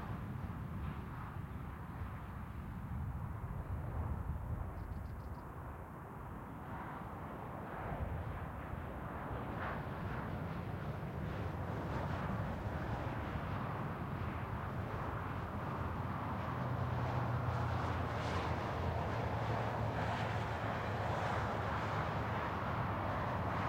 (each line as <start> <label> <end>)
0.0 Highway 23.6